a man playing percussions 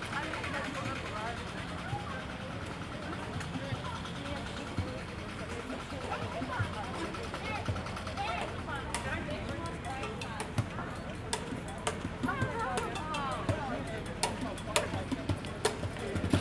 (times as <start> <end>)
6.2 16.4